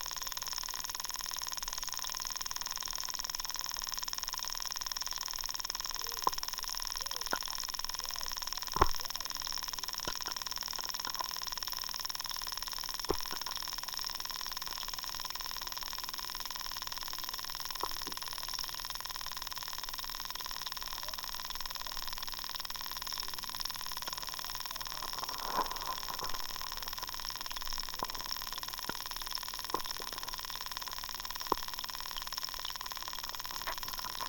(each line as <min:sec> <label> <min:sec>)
0:00.0 Underwater activity 0:34.2